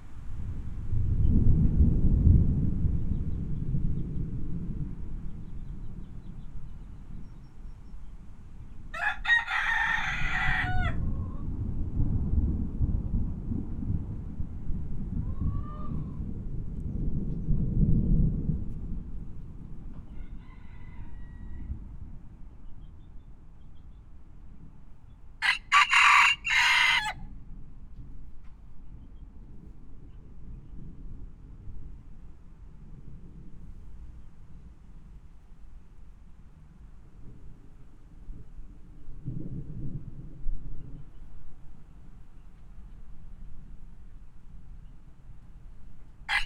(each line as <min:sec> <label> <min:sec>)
0:00.0 thunder storm 0:07.2
0:05.6 free range chickens 0:11.5
0:09.7 thunder storm 0:20.4
0:15.2 free range chickens 0:16.2
0:19.8 free range chickens 0:24.1
0:25.1 free range chickens 0:27.2
0:25.8 thunder storm 0:44.7